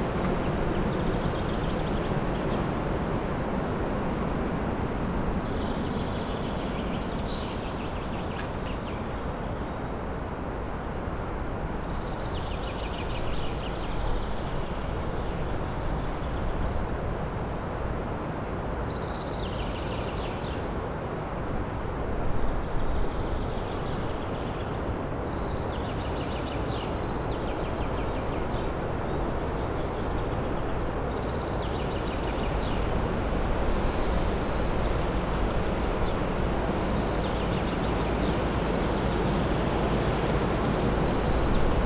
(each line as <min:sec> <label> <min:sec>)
0:00.0 strong wind whirring in the trees 0:09.2
0:21.4 strong wind whirring in the trees 0:41.8
0:32.0 withered leaves being blown around by the stronger gusts 0:41.8